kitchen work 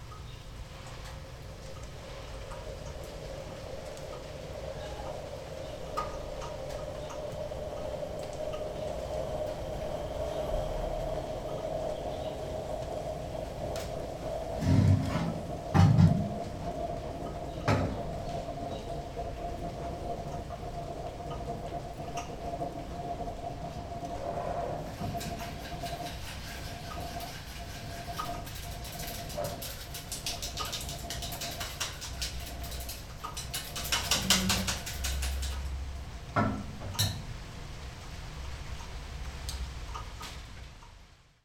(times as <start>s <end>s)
25.0s 35.7s